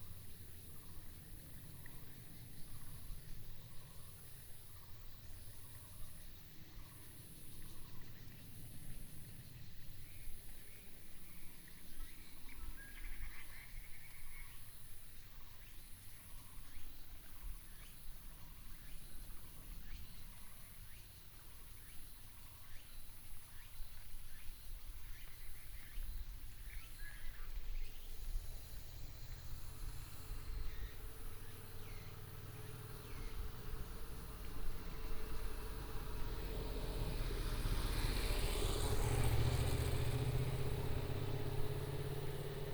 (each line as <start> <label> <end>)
28.1 traffic sound 42.7